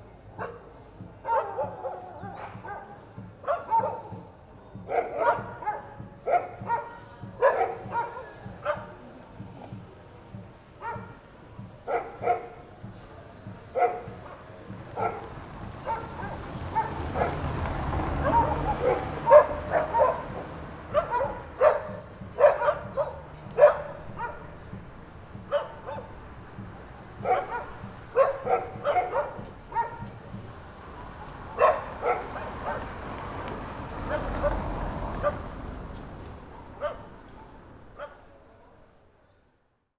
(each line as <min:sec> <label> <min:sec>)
0:00.0 running vehicle 0:39.2
0:13.6 dogs attacking a car 0:38.1